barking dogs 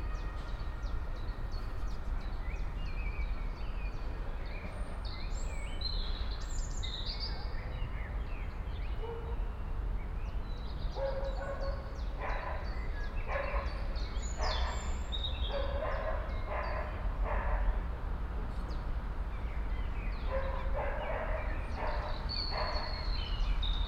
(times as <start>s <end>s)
11.0s 12.7s, 13.3s 14.9s, 15.5s 17.8s, 20.2s 23.1s